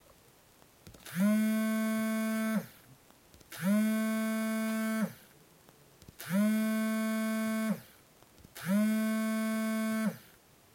Vibrating mobile on the table 8.6 - 10.2

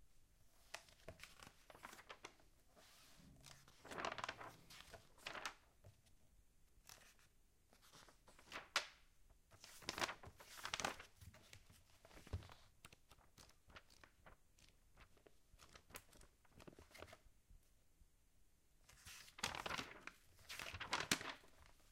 leafing through a magazine 0.7 - 5.6
leafing through a magazine 7.8 - 17.2
leafing through a magazine 18.9 - 21.9

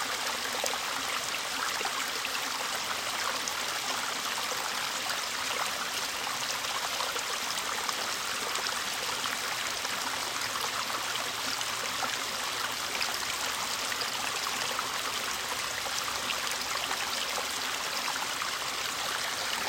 Fast flowing water 0.0 - 19.6

